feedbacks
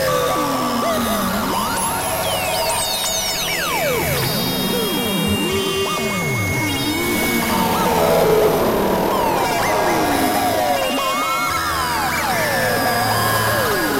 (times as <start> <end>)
6.3 11.8